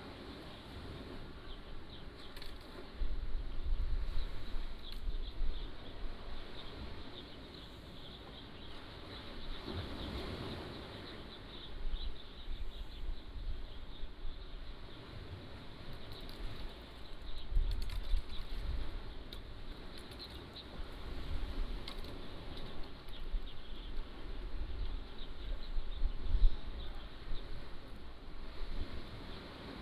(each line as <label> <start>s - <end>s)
waves 0.0s - 29.8s